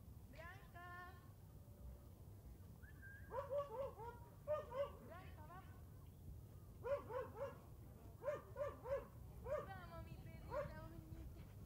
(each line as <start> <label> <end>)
2.8 whistles 3.4
3.3 Dogs barking 5.0
3.3 humans also call the dogs and talk 5.9
6.8 Dogs barking 7.6
6.8 humans also call the dogs and talk 11.6
8.2 Dogs barking 9.8
8.2 dogs are running and playing 11.6
10.5 Dogs barking 10.8